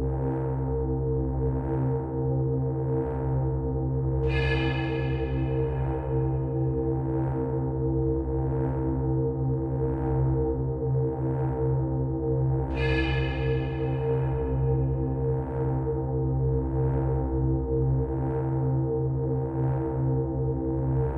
drone 0:04.2 - 0:07.9
drone 0:12.7 - 0:16.7

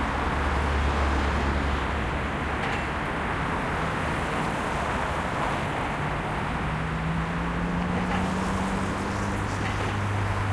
Medium traffic 0:00.0 - 0:10.5

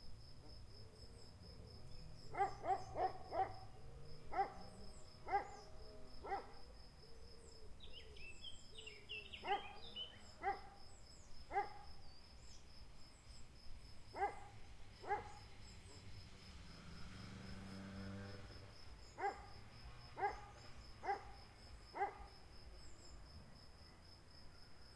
trees 0:00.0 - 0:24.9
birds 0:00.8 - 0:13.5
dog 0:02.3 - 0:03.6
dog 0:04.3 - 0:04.6
dog 0:05.2 - 0:05.6
dog 0:06.2 - 0:06.6
dog 0:10.4 - 0:10.8
dog 0:11.5 - 0:11.8
dog 0:14.2 - 0:15.4
birds 0:18.9 - 0:23.2
dog 0:19.2 - 0:19.5
dog 0:20.2 - 0:21.4
dog 0:22.0 - 0:22.3

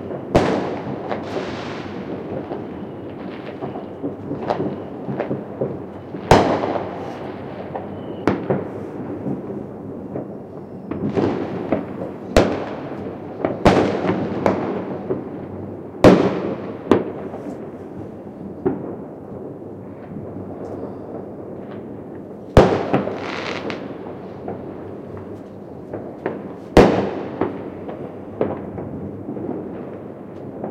Fireworks, rockets 0:00.0 - 0:30.7

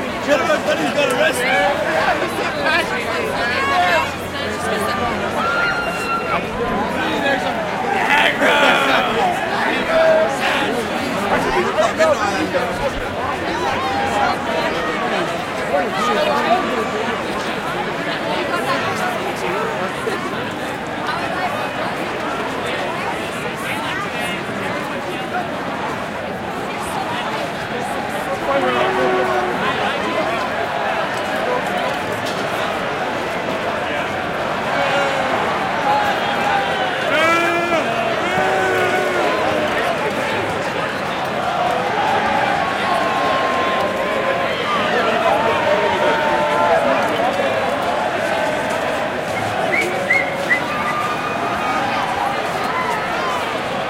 crowd 0:00.0 - 0:53.8

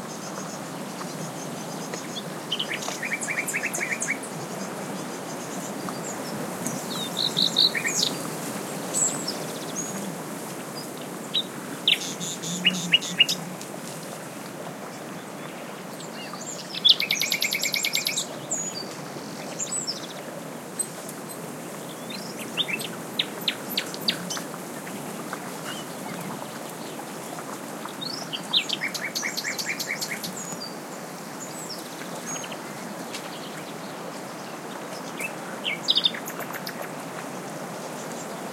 stream 0:00.0 - 0:38.5
wind 0:00.0 - 0:38.5
Nightingale singing 0:06.8 - 0:08.2
Nightingale singing 0:11.3 - 0:13.4
Nightingale singing 0:16.2 - 0:18.9

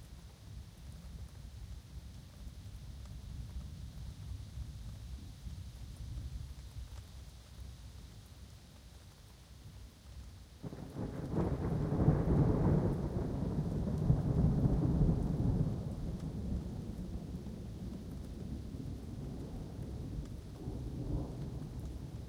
rain 0:00.0 - 0:22.2
wind 0:00.0 - 0:22.2
thunder 0:10.6 - 0:22.2

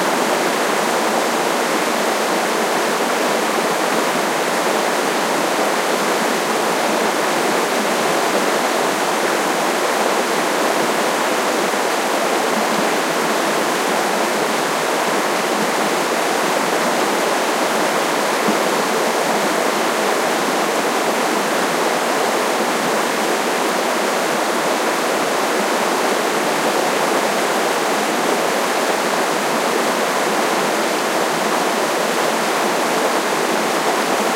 river 0:00.0 - 0:34.3

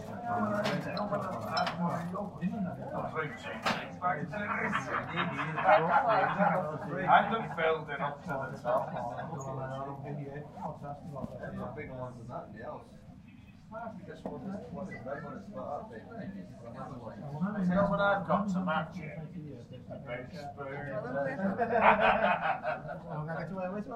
conversation 0:00.0 - 0:23.9
laughter 0:04.3 - 0:07.0
laughter 0:21.3 - 0:23.2

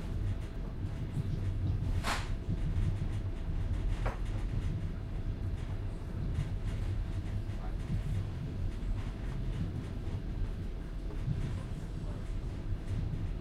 Walking through a moving train passenger wagon 0:00.0 - 0:13.4
moving train passenger wagon 0:00.0 - 0:13.4

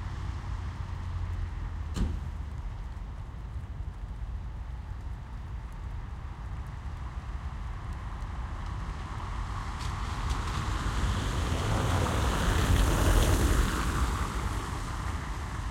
Passing cars on wet cobblestone street 0:00.0 - 0:15.7
Raindrops are audible close to microphone 0:00.0 - 0:15.7
city noise in the background 0:00.0 - 0:15.7

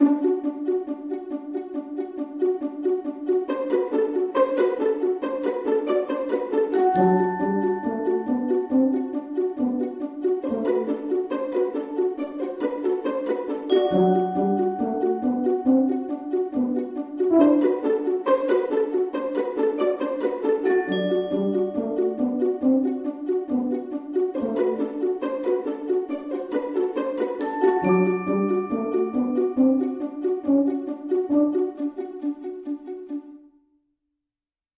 pizzicato 0:00.0 - 0:33.5
vibraphone 0:06.7 - 0:09.1
glockenspiel 0:06.7 - 0:09.5
vibraphone 0:13.7 - 0:16.7
glockenspiel 0:13.7 - 0:17.6
tuba 0:13.7 - 0:18.4
glockenspiel 0:20.6 - 0:22.8
vibraphone 0:20.7 - 0:22.5
tuba 0:20.9 - 0:24.8
glockenspiel 0:27.4 - 0:30.9
vibraphone 0:27.4 - 0:30.0
tuba 0:27.8 - 0:31.8

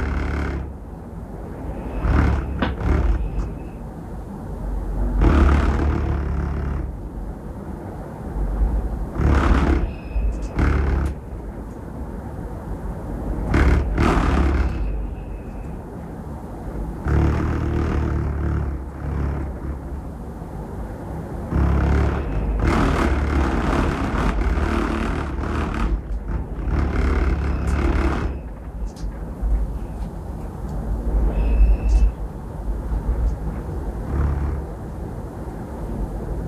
wind 0:00.0 - 0:36.4

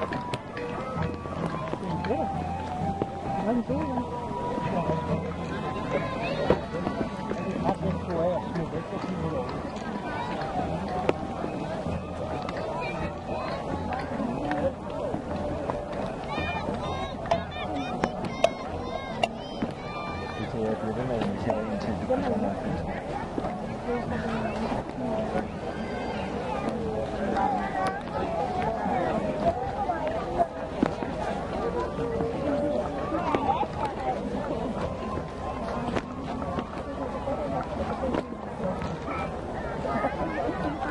skilled viking musicians played a little tune 0:00.0 - 0:20.9
crowd of people 0:00.0 - 0:40.9

